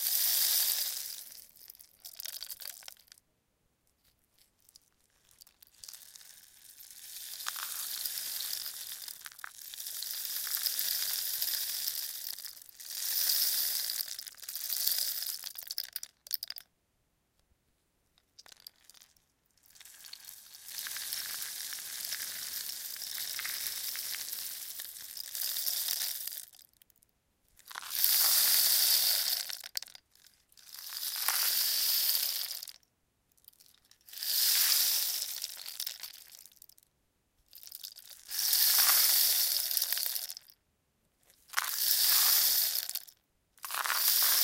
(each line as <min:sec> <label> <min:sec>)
0:00.0 rain stick 0:03.2
0:05.4 rain stick 0:16.6
0:18.4 rain stick 0:19.1
0:19.8 rain stick 0:26.6
0:27.7 rain stick 0:30.0
0:30.7 rain stick 0:32.8
0:34.1 rain stick 0:36.7
0:37.6 rain stick 0:40.5
0:41.5 rain stick 0:44.4